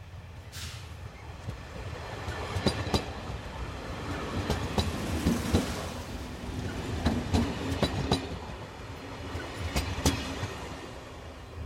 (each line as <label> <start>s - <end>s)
train passing by 0.0s - 11.6s